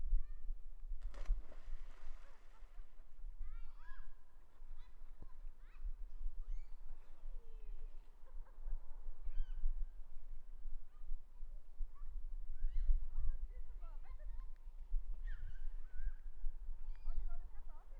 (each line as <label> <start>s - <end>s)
children playing in the lake 0.2s - 8.5s
water 0.9s - 9.6s